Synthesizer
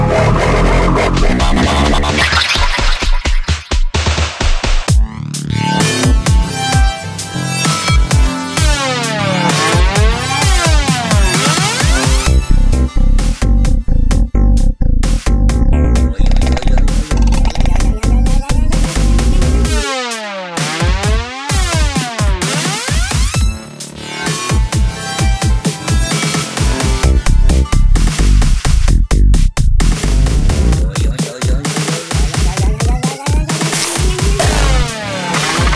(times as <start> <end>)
15.6 29.0, 29.6 35.7